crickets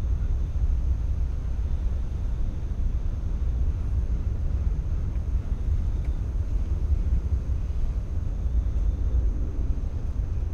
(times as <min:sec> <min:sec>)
0:04.9 0:10.0